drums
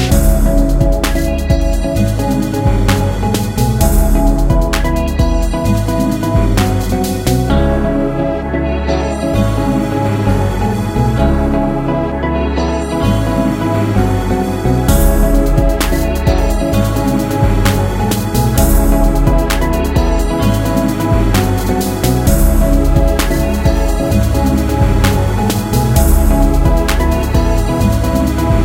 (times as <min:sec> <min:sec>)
0:00.0 0:07.6, 0:14.8 0:28.6